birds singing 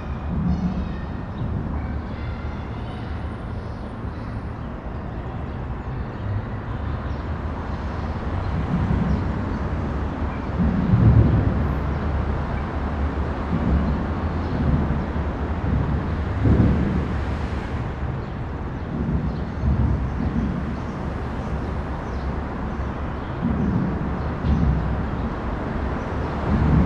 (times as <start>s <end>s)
0.0s 10.9s, 18.2s 26.3s